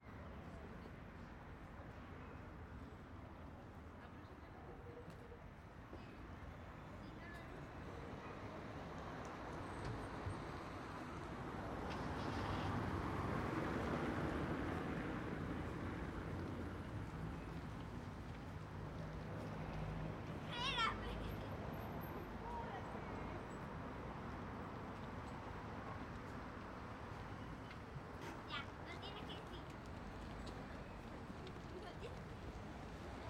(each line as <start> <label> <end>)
0.0 VERY LIGHT VOICES WALLA 13.2
16.4 VERY LIGHT VOICES WALLA 25.2
27.1 VERY LIGHT VOICES WALLA 33.2